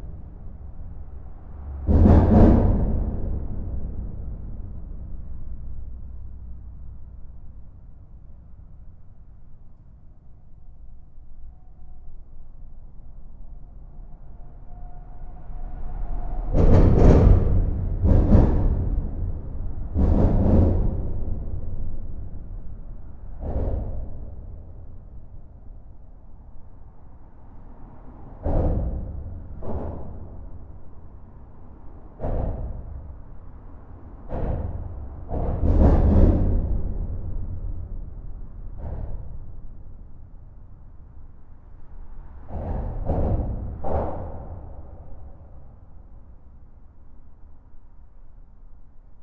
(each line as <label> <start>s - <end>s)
trucks are driving fast, doing huge impacts on the bridge structure 0.0s - 7.8s
trucks are driving fast, doing huge impacts on the bridge structure 15.6s - 47.6s